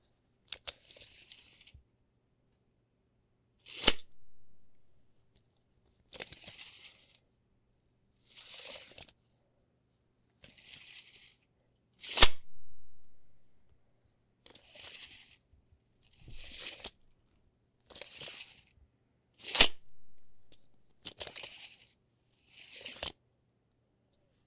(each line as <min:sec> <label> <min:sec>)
0:00.5 Medium tape measure drawn out and retracted 0:01.8
0:03.6 Medium tape measure drawn out and retracted 0:04.9
0:06.1 Medium tape measure drawn out and retracted 0:07.2
0:08.2 Medium tape measure drawn out and retracted 0:09.2
0:10.4 Medium tape measure drawn out and retracted 0:11.4
0:12.0 Medium tape measure drawn out and retracted 0:13.5
0:14.5 Medium tape measure drawn out and retracted 0:15.4
0:16.2 Medium tape measure drawn out and retracted 0:17.0
0:17.9 Medium tape measure drawn out and retracted 0:18.8
0:19.4 Medium tape measure drawn out and retracted 0:23.2